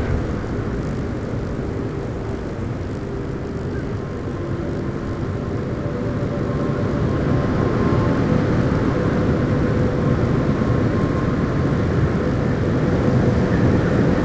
0.0s Wind through a THT pylon 2.3s

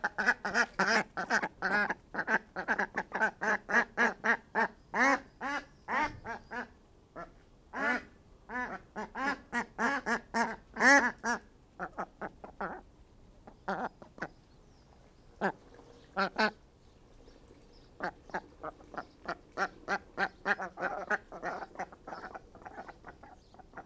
0.0s extra quacking 12.8s
0.0s little chuntering duck banter 16.6s
17.3s little chuntering duck banter 23.8s

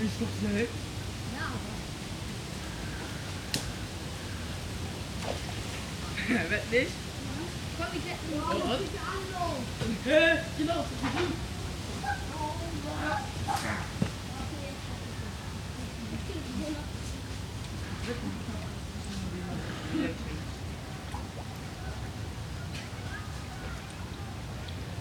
0.0s small stream 25.0s
7.6s children 18.8s
19.6s children 25.0s

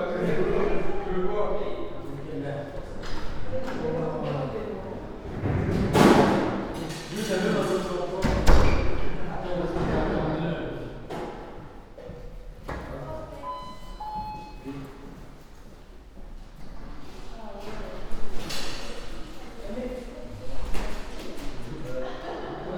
21.8s students are joking 22.7s

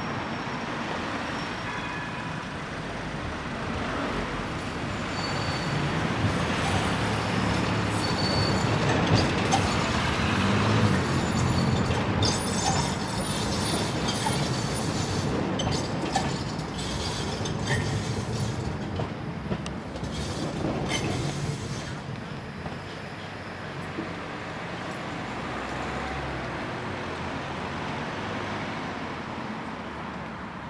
0.0s Cars 15.2s
0.0s trams 30.6s

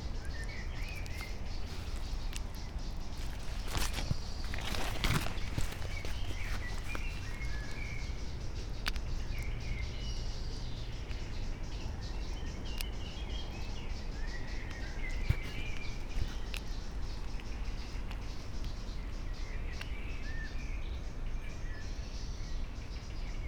0.0s high waters, almost still 11.1s

